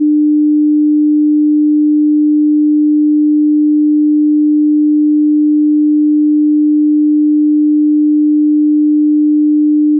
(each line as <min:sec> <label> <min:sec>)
0:00.0 sine wave 0:09.9